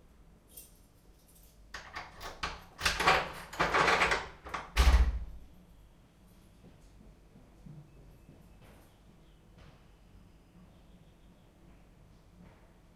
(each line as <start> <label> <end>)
0.5 keys 5.2
1.8 Door opening and closing 5.4